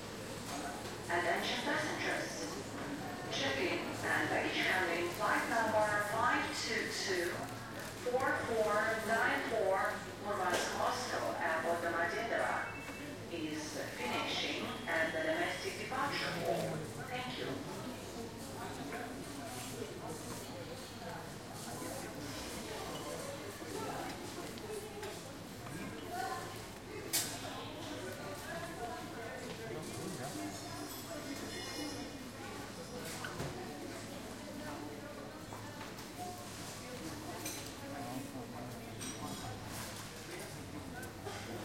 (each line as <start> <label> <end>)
0.5 people talking 19.1
1.0 Announcements 2.6
3.2 Announcements 17.6